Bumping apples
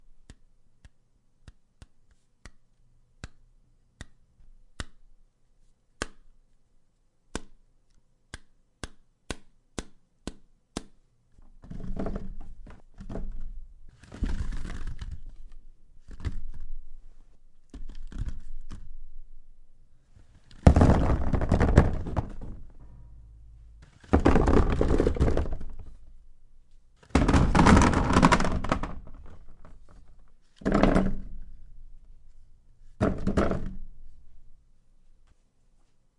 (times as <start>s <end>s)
20.5s 26.2s, 27.0s 31.4s